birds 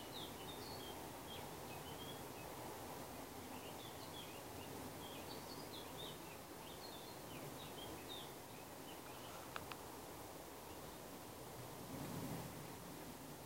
0:00.0 0:02.6, 0:03.2 0:09.9

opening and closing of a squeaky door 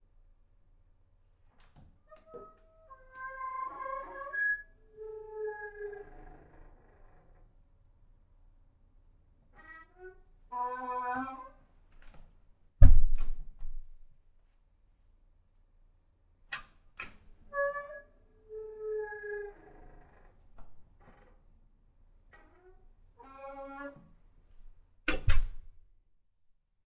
0:01.5 0:07.6, 0:09.5 0:12.2, 0:16.6 0:21.5, 0:22.3 0:24.3, 0:25.1 0:25.7

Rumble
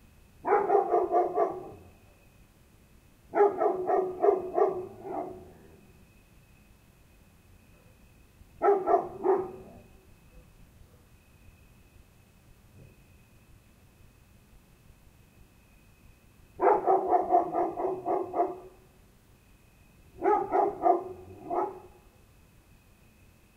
0:03.0 0:10.5

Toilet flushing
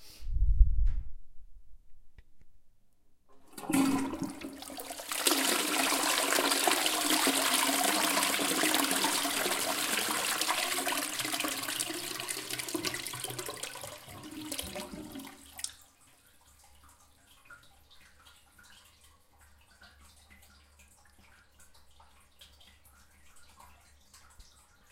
0:03.3 0:15.9

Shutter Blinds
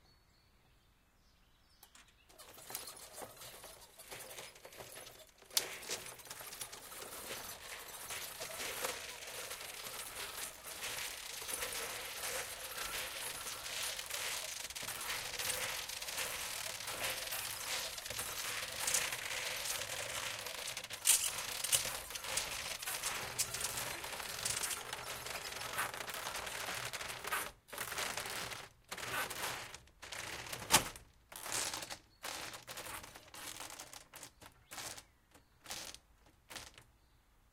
0:02.3 0:31.0

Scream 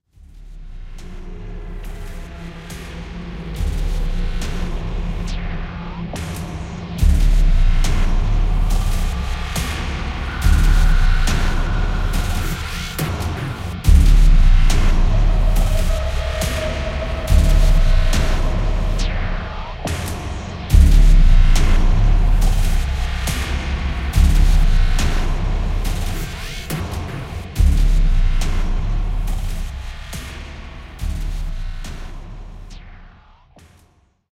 0:08.8 0:20.6

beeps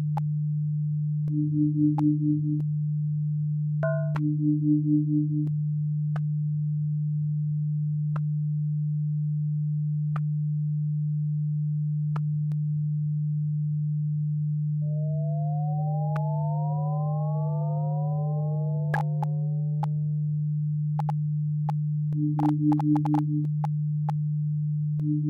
0:22.2 0:23.6

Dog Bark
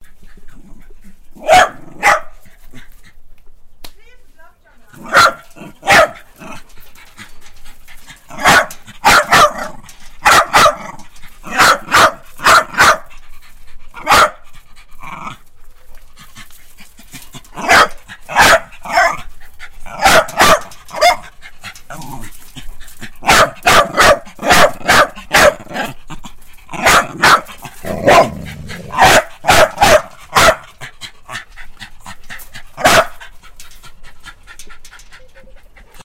0:01.4 0:02.4, 0:05.0 0:06.3, 0:08.4 0:10.9, 0:11.5 0:13.1, 0:14.0 0:14.4, 0:17.6 0:19.2, 0:19.9 0:21.2, 0:23.2 0:25.9, 0:26.8 0:30.7, 0:32.8 0:33.2

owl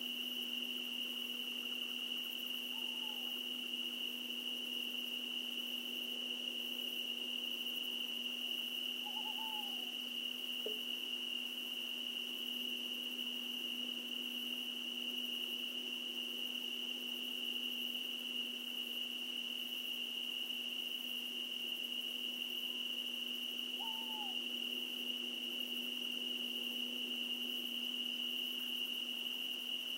0:02.7 0:03.4, 0:09.0 0:10.0, 0:23.7 0:24.4

